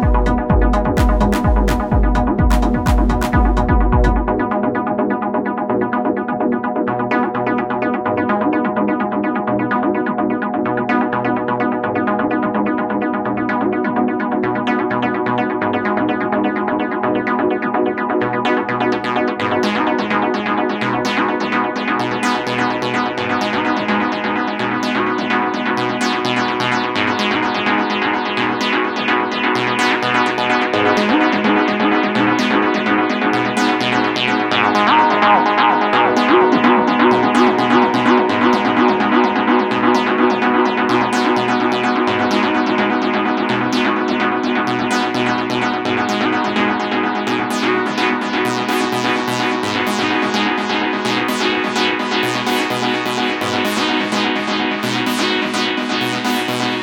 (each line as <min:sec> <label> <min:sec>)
0:00.0 synth 0:05.0
0:29.9 synth 0:56.8